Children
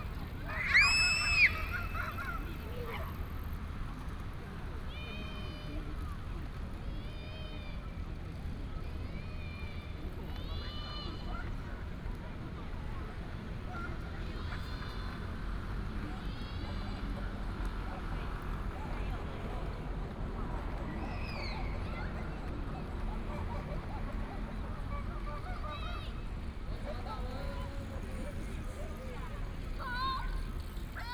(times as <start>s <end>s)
0.2s 3.3s, 29.1s 31.1s